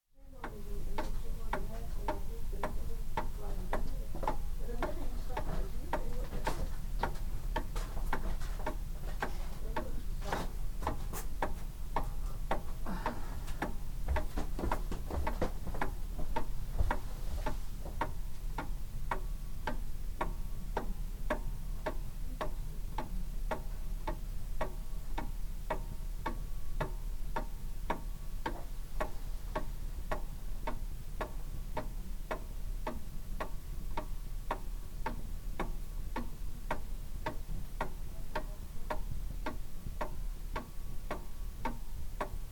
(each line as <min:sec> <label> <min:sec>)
0:00.3 old clock ticking on the mantelpiece 0:42.5